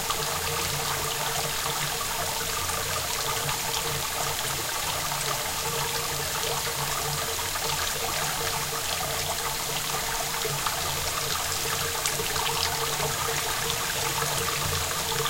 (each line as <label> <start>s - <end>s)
rain 0.0s - 15.2s